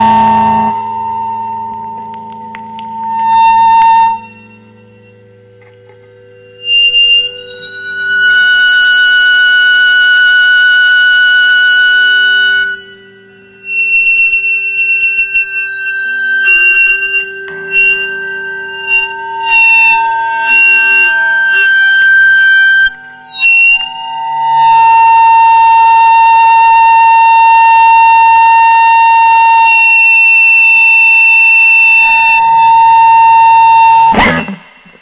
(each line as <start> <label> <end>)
0.0 Coupled Guitar 8.3
12.6 Coupled Guitar 23.4
32.6 Coupled Guitar 35.0